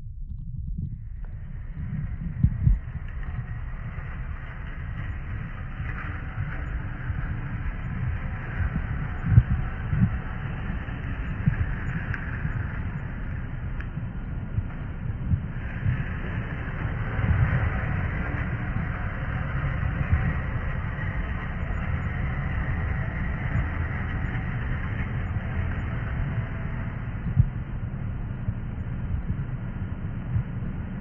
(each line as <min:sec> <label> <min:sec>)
0:00.0 rumble 0:31.0